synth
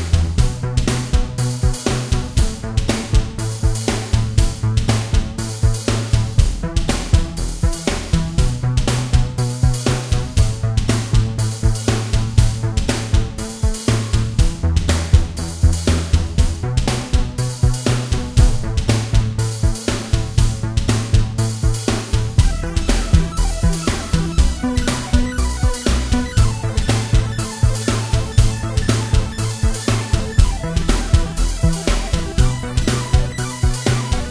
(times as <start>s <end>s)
22.3s 34.3s